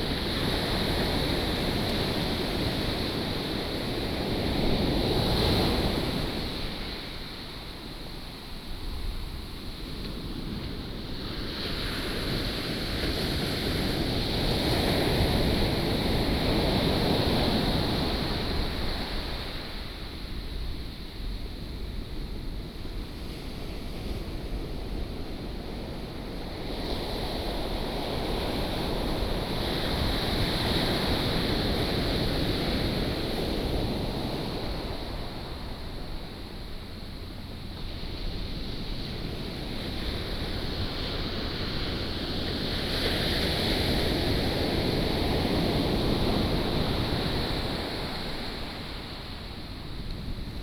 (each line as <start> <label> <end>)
23.4 waves 50.6